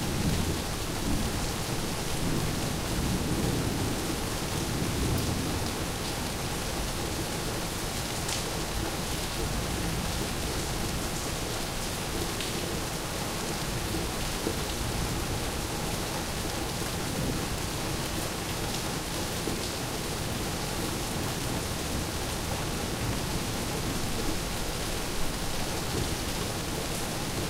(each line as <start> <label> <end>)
0.0 Rain 27.4